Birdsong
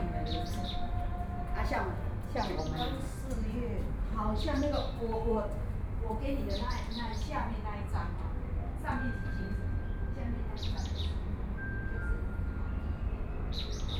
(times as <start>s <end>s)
0.0s 3.3s, 6.4s 7.6s, 10.6s 11.3s, 13.4s 13.9s